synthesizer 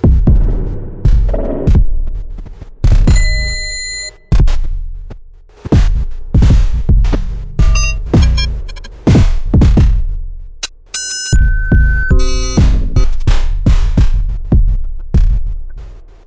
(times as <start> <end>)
7.1 9.8, 10.9 13.5